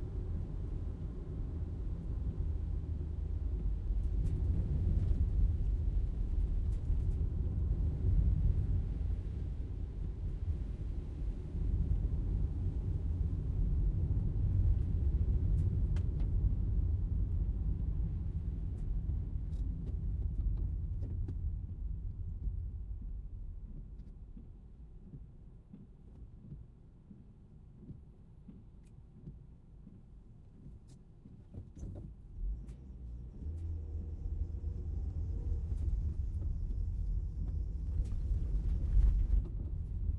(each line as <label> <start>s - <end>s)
Short drive, interior 14.7s - 40.1s